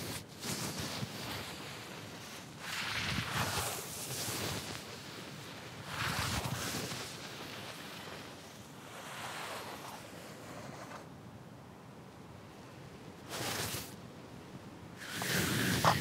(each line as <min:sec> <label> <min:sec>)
0:08.9 Sandpaper 0:11.1
0:13.3 Sandpaper 0:14.0
0:15.0 Sandpaper 0:16.0